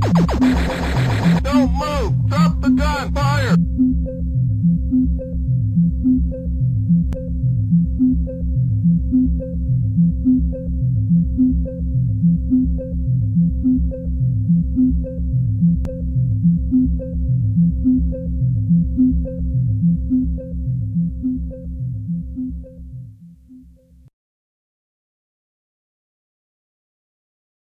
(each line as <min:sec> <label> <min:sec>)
0:00.0 beat 0:03.6